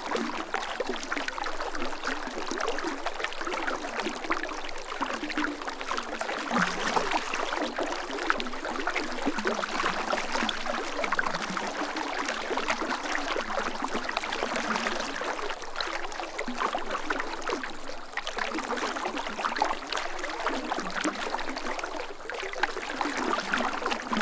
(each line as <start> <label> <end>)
0.0 fast-moving stream flows around a log 24.2